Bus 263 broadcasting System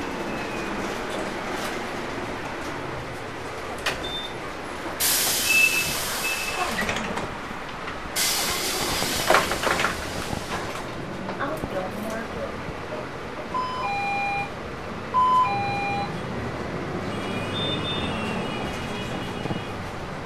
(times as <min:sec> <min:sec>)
0:03.4 0:16.3, 0:17.0 0:20.0